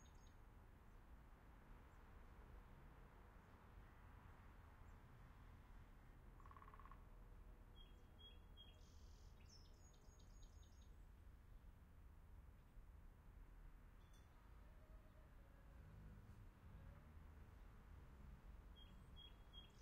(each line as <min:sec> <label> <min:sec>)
0:06.4 woodpecker 0:07.0